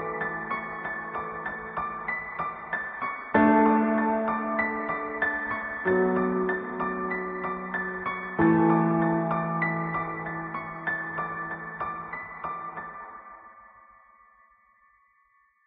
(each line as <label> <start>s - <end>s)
piano 0.0s - 15.6s